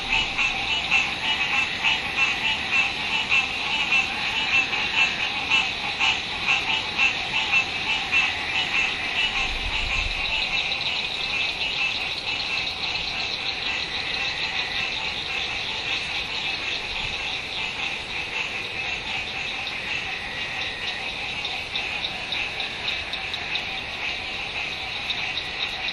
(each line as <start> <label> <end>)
0.0 frogs croaking 25.9